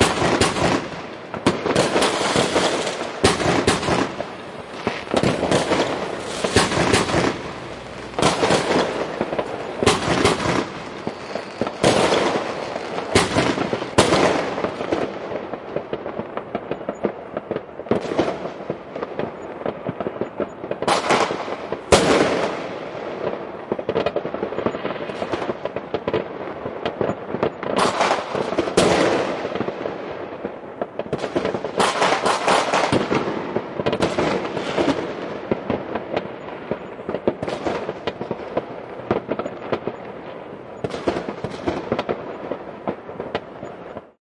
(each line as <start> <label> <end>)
0.0 rockets 44.2
0.0 Firework 44.2